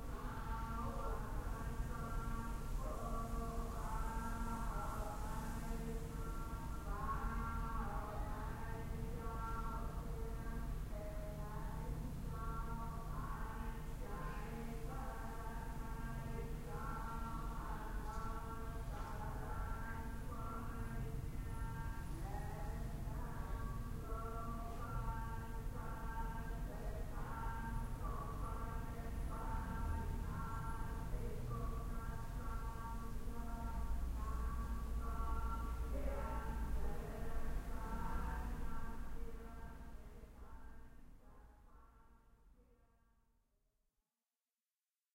0.0s Buddhist Chanting 42.0s

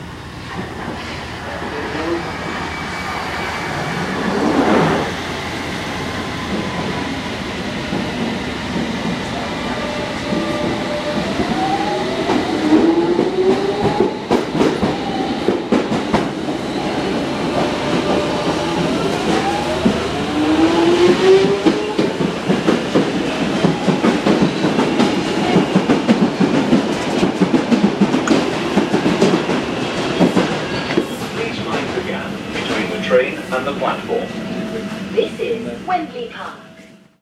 0.0s tube trains arriving and departing 37.2s
31.3s announcement 36.9s

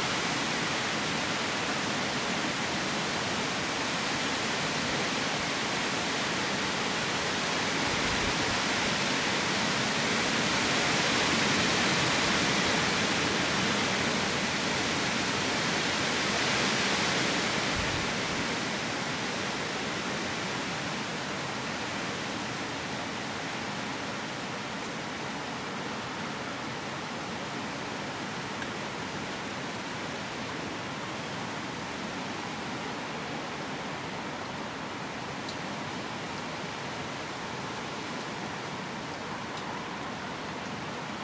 0.0s Wind can be heard blowing through nearby woods 41.2s
0.0s rain 41.2s

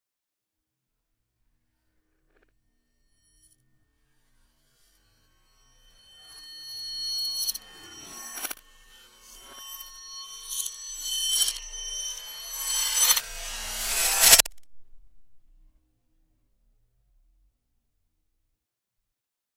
5.8s glass breaking reversed 14.5s

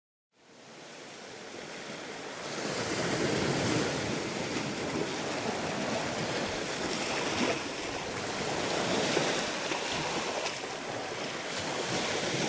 0.4s moderately gentle waves 12.4s

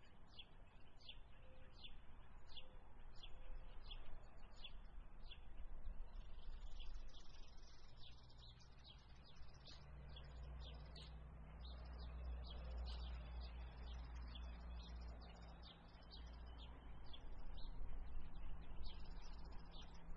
0.0s Misc bird calls 20.1s
0.0s light traffic 20.1s

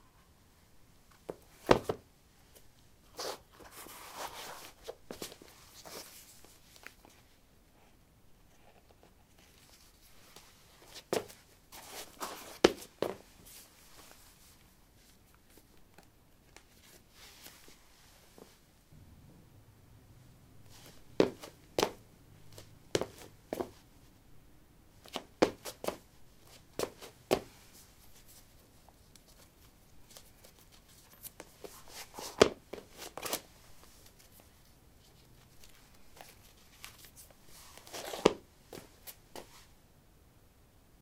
1.3s Putting summer shoes on/off on linoleum 2.0s
20.6s footsteps 23.8s
20.7s Putting summer shoes on/off on linoleum 23.8s
25.0s Putting summer shoes on/off on linoleum 27.5s
31.4s Putting summer shoes on/off on linoleum 33.5s
37.8s Putting summer shoes on/off on linoleum 39.5s

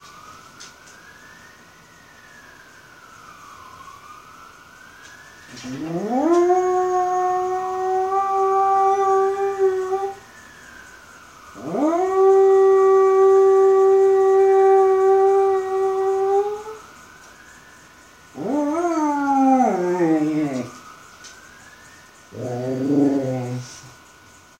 0.0s sirens 24.5s
5.5s powerful howl 10.2s
11.6s powerful howl 16.8s
18.4s powerful howl 20.8s
22.3s powerful howl 23.9s

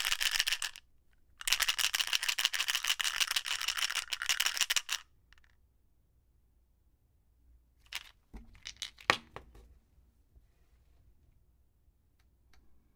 0.0s large pills in a small prescription bottle 5.6s

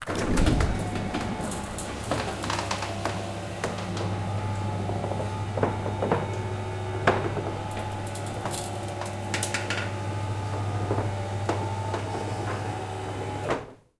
0.0s electric roller door going up 13.9s

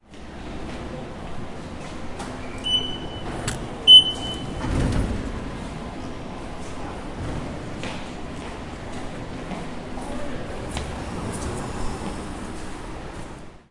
2.2s automatic door 5.6s
2.6s Beep 3.3s
2.6s Ticket machine 4.9s
3.9s Beep 4.5s
7.8s footsteps 13.5s

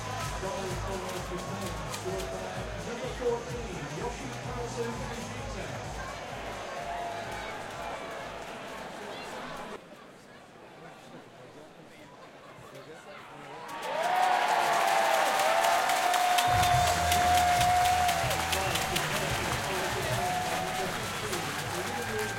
0.0s cheer 9.8s
0.0s Sports Crowd Various Sounds 22.3s
13.4s cheer 22.3s

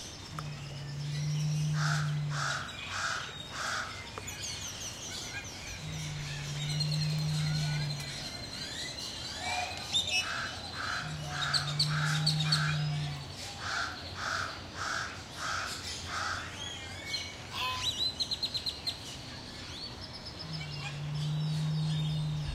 0.8s loud calls from Pied Crows 4.0s
5.2s loud calls from Pied Crows 8.4s
9.4s loud calls from Pied Crows 16.6s
20.4s loud calls from Pied Crows 22.5s

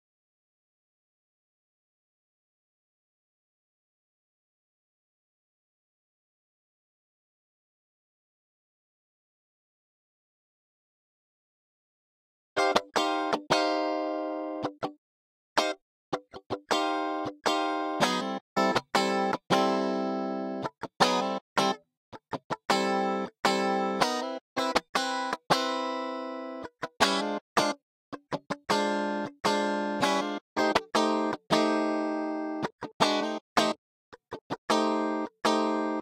12.6s Guitar 15.0s
15.6s Guitar 36.0s

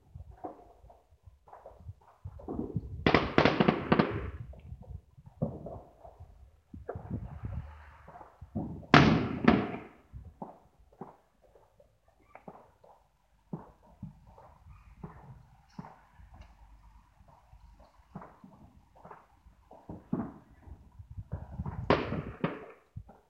0.0s Fireworks 23.2s

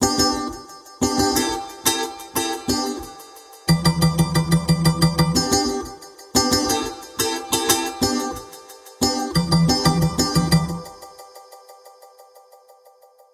0.0s beat 11.4s

